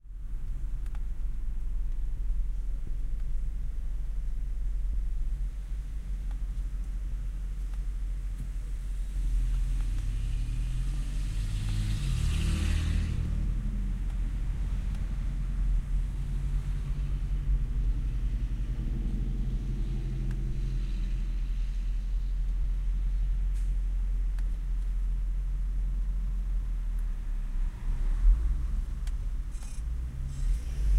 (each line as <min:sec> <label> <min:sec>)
0:00.0 trucks 0:30.9
0:09.1 cars passing 0:22.2
0:27.1 cars passing 0:30.9
0:29.0 nice creaking as it accelerates 0:30.9